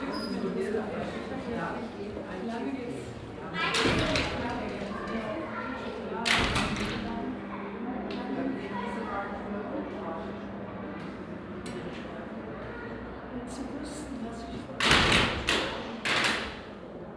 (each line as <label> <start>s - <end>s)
two double doors out of glas and metal 3.7s - 5.2s
two double doors out of glas and metal 14.6s - 16.8s